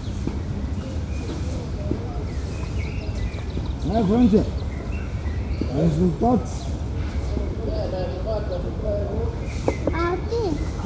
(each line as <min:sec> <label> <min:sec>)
0:00.0 old men with rakes prepare the gravel surface 0:04.7
0:05.6 small child converses with his parents 0:10.8